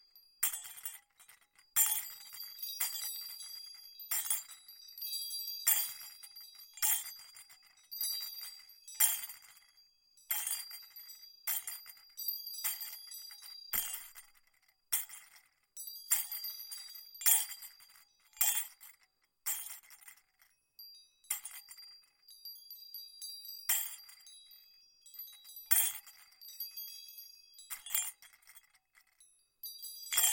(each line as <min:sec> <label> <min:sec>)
0:20.8 ensemble of bells 0:25.7
0:26.4 ensemble of bells 0:28.0